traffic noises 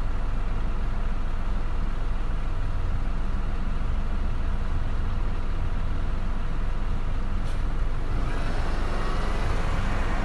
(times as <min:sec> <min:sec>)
0:04.6 0:10.2